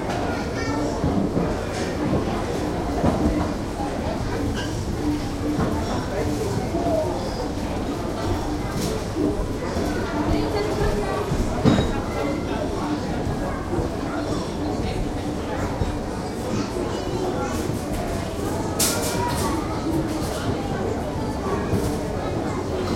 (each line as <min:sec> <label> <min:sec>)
0:00.0 People (LOTS of people) are milling about 0:22.9
0:00.0 children 0:22.9
0:00.0 visitors are all speaking German 0:22.9